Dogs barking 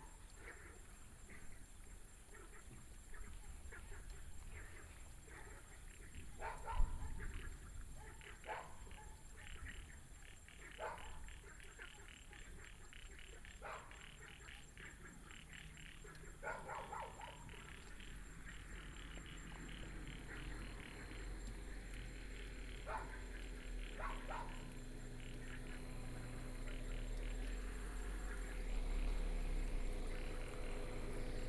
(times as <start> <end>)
6.4 9.4, 10.6 12.0, 13.5 15.0, 16.1 28.9